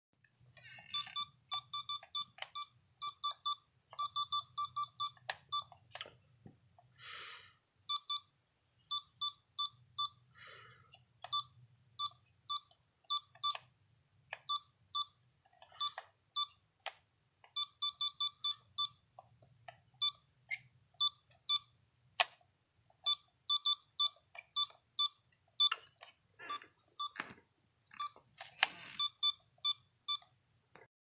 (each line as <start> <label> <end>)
0.2 pressing all sorts of buttons 6.9
0.8 SMS Chat Messenger devices beeping 6.0
7.8 SMS Chat Messenger devices beeping 10.3
10.9 pressing all sorts of buttons 30.9
11.2 SMS Chat Messenger devices beeping 13.7
14.4 SMS Chat Messenger devices beeping 16.6
17.5 SMS Chat Messenger devices beeping 19.1
20.0 SMS Chat Messenger devices beeping 20.3
21.0 SMS Chat Messenger devices beeping 21.8
23.0 SMS Chat Messenger devices beeping 27.3
27.9 SMS Chat Messenger devices beeping 30.3